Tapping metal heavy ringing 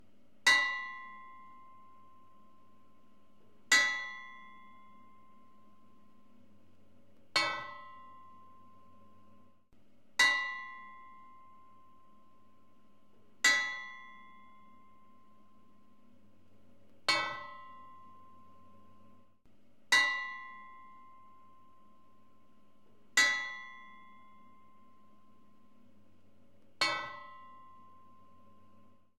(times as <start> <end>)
0.5 2.6, 3.7 6.0, 7.4 9.1, 10.2 12.2, 13.4 15.8, 17.1 19.2, 19.9 21.9, 23.2 25.8, 26.8 29.0